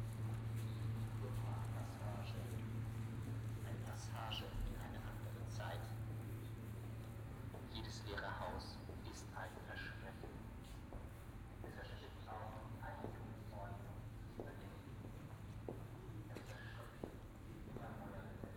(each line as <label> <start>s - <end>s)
walk down the street 0.0s - 18.5s
radios were distributing the live voice 3.6s - 6.0s
radios were distributing the live voice 11.6s - 15.1s